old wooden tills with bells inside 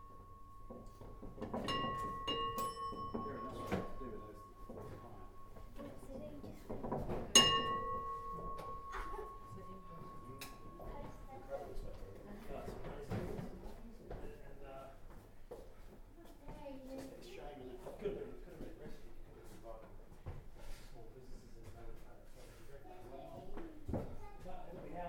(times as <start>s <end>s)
0.0s 12.8s